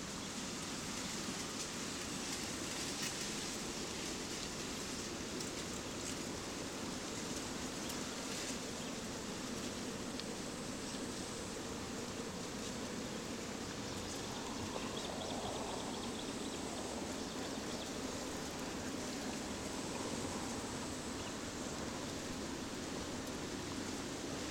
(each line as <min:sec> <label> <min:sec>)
0:00.0 white noises of reeds 0:24.5